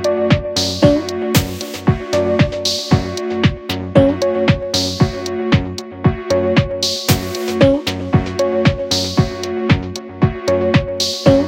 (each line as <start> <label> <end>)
0.0 vox 11.4